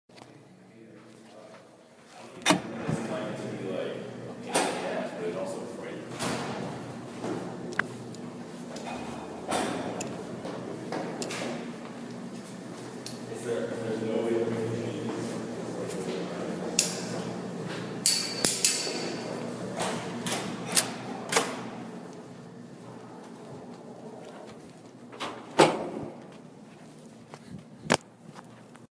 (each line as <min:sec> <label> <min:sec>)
0:02.3 Opening a door to a deep stairwell 0:03.4
0:06.0 Opening a door to a deep stairwell 0:13.3
0:15.1 Opening a door to a deep stairwell 0:26.4